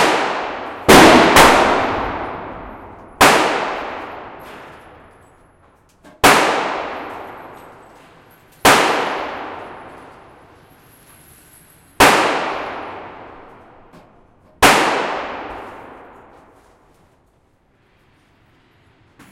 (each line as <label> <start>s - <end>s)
Indoor Guns 0.0s - 19.3s